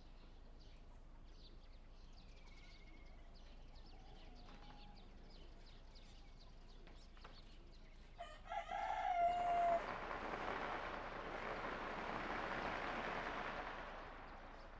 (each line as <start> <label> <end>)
9.6 firecrackers 14.7